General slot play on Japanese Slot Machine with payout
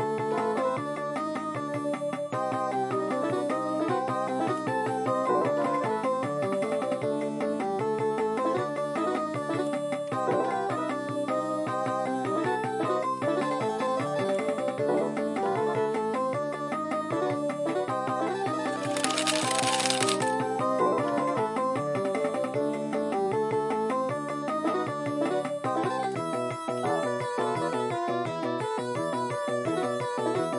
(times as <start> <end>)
18.8 20.4